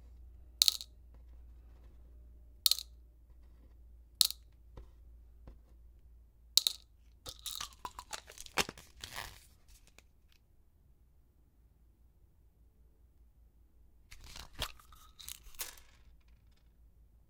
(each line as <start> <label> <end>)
0.6 picking up the pills 2.0
0.6 Little pills splay out onto a wooden desk 0.9
2.6 picking up the pills 5.8
2.7 Little pills splay out onto a wooden desk 4.4
6.6 Little pills splay out onto a wooden desk 9.2
6.6 picking up the pills 10.4
14.1 picking up the pills 16.7
14.2 Little pills splay out onto a wooden desk 16.6